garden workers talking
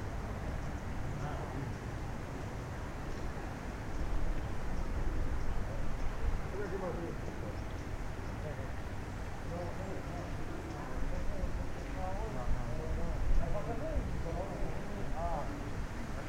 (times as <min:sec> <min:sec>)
0:01.1 0:02.0, 0:05.2 0:16.2